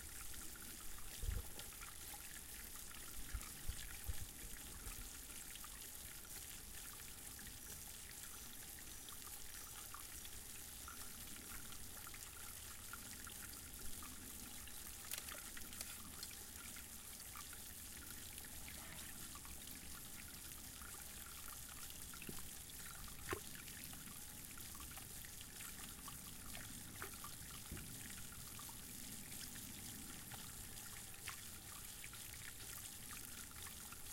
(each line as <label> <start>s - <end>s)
water 0.0s - 34.1s